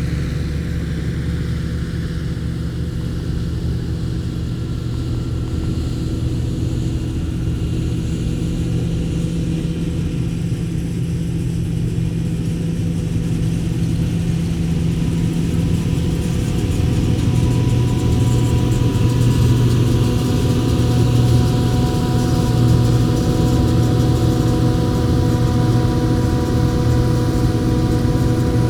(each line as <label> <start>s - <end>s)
Combine harvesting 11.0s - 28.6s